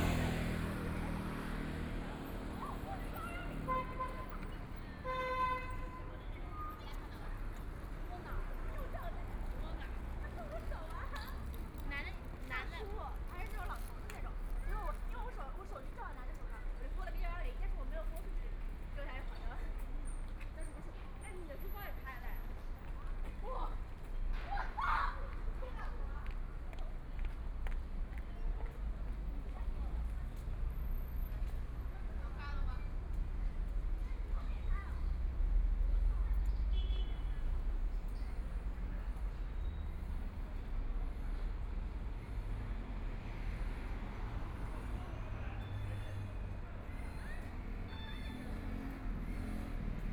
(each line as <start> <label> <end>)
0.0 Traffic Sound 50.1